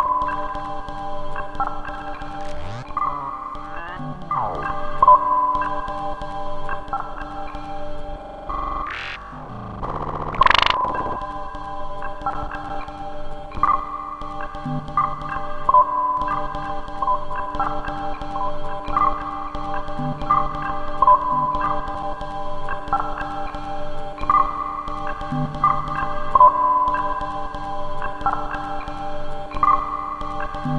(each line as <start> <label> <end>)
0.6 rhythmic sequence of sounds glitchy but melodic 30.7